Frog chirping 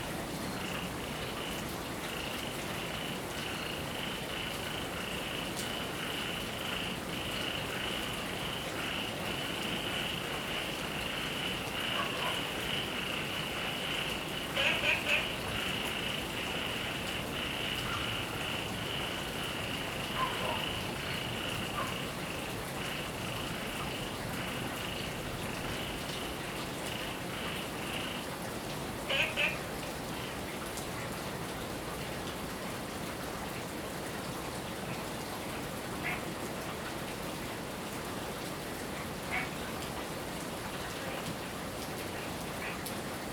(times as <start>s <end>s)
2.8s 26.0s, 26.8s 28.3s, 29.1s 29.6s